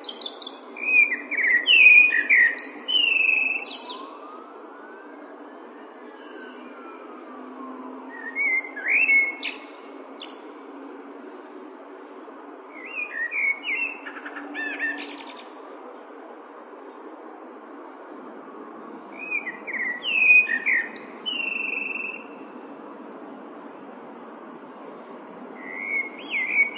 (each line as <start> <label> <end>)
0.0 male blackbird singing 4.1
0.0 Traffic rumble 26.7
8.1 male blackbird singing 10.4
12.8 male blackbird singing 16.0
19.2 male blackbird singing 22.3
25.6 male blackbird singing 26.7